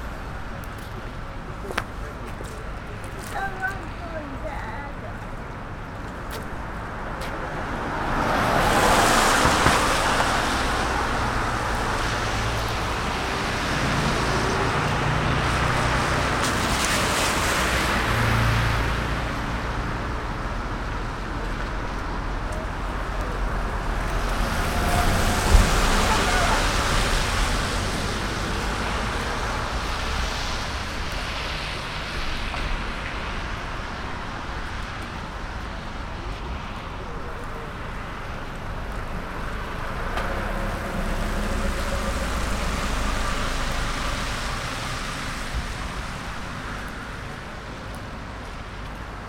0.0s Rain 49.2s

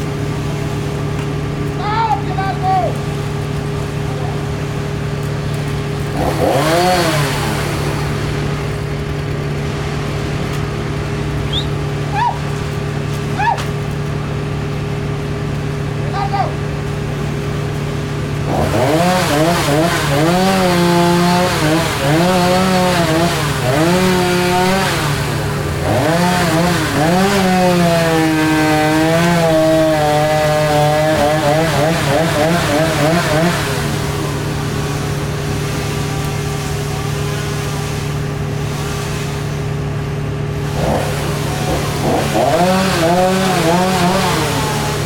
0.0s Chainsaws were out early this morning removing dead trees 45.0s
0.0s Workers 45.0s

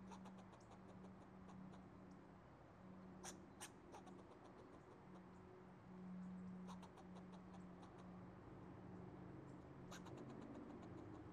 0.1s squirrel 1.8s
3.2s squirrel 5.3s
6.6s squirrel 8.1s
9.9s squirrel 11.3s

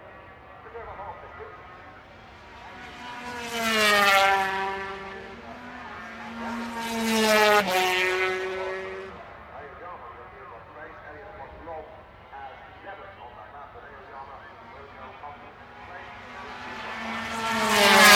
0.0s 250 race 18.1s
0.0s commentary 18.1s

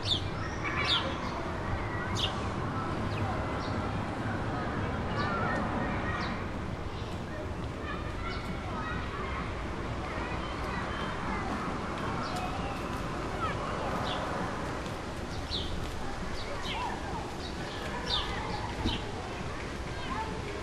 0.0s Sparrows chirp 2.4s
0.0s Childrens play 20.6s
15.3s Sparrows chirp 20.4s

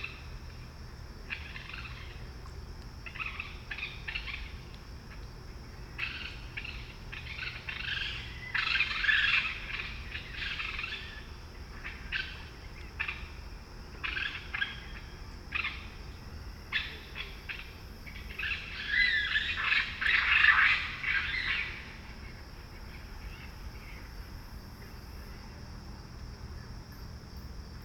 0.0s Green Frogs 27.8s
16.6s Raccoons 25.4s

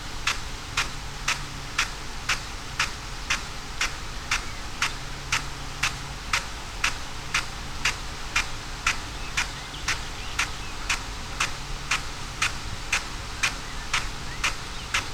0.0s field irrigation system 15.1s

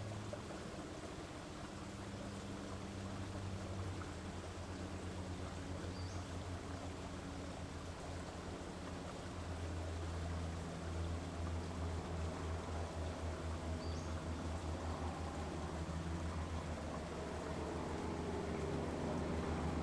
8.8s planes 19.8s
13.8s bird 14.2s

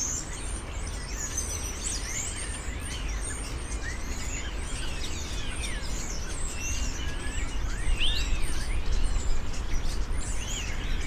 0.0s Birds 11.0s

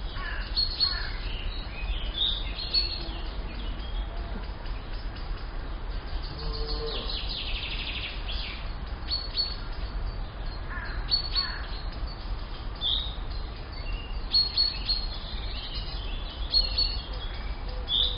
0.0s Birds 18.1s
6.3s cow 7.2s

